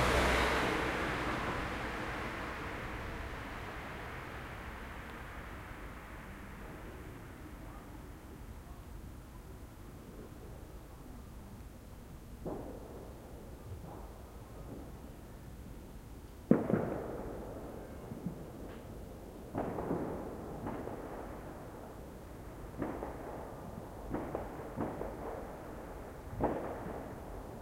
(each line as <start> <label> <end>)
0.0 car that drove by twice 6.2
12.3 Distant Fireworks 27.6